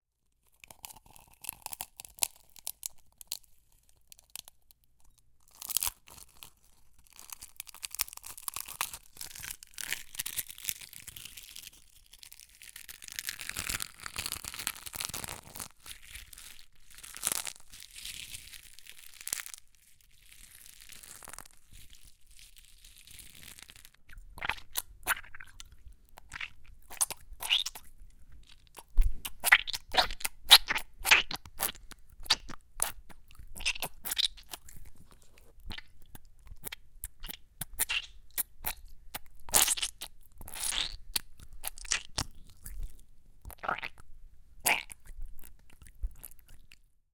pulp squished between fingers 0:24.1 - 0:27.9
pulp squished between fingers 0:28.7 - 0:34.9
pulp squished between fingers 0:35.6 - 0:42.9
pulp squished between fingers 0:43.5 - 0:44.0
pulp squished between fingers 0:44.6 - 0:46.8

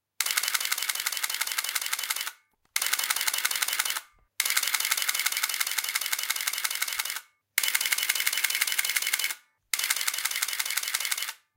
Burst Shutter Film SLR Camera 0:00.2 - 0:11.4

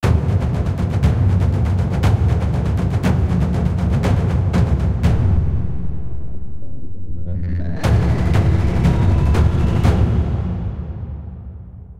tension builder 0:04.6 - 0:11.4

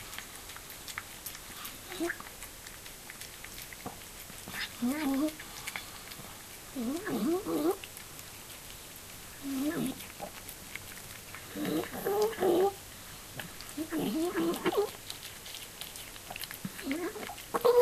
old cat eating 0:00.0 - 0:17.8

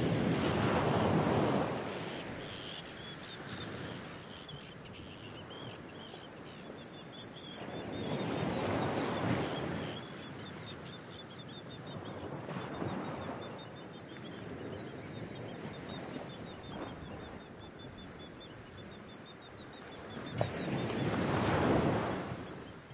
Waves 0:00.0 - 0:22.9
wind 0:00.0 - 0:22.9
arctic tern 0:01.8 - 0:21.3

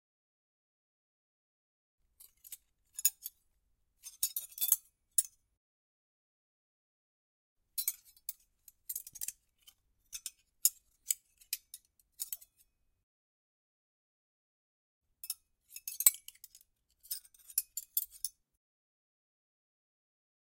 cutlery clinking 0:15.2 - 0:18.4

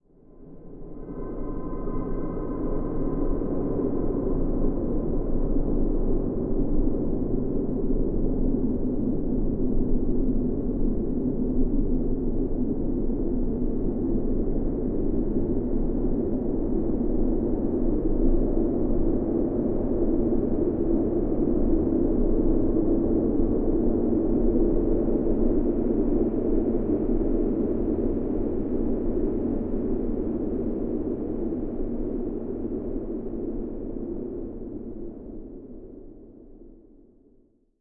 drone 0:00.2 - 0:07.2

